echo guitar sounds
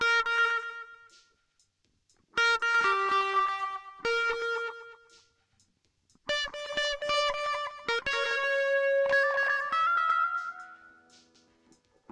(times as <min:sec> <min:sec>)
0:00.0 0:01.0, 0:02.4 0:05.1, 0:06.3 0:11.2